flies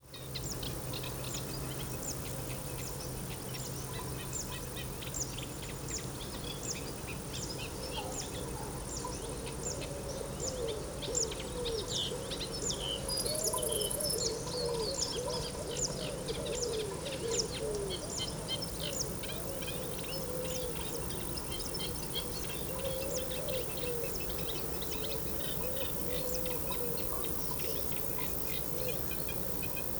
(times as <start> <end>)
18.1 29.9